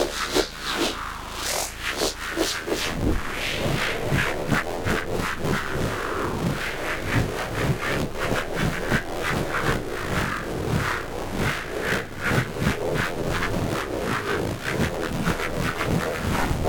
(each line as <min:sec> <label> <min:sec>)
0:00.0 static 0:16.6
0:15.7 drone 0:16.6